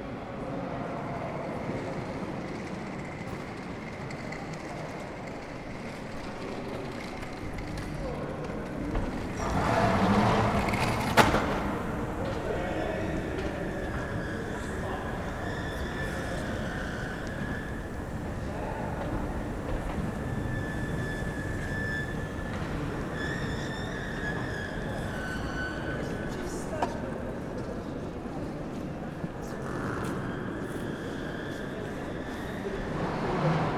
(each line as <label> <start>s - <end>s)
people going down to the subway 0.0s - 33.7s
singing escalator 0.0s - 33.7s